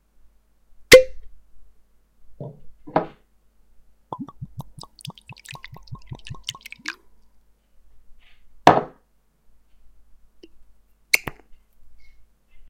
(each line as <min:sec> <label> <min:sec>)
0:04.2 pouring himself an Ardbeg whiskey 0:07.0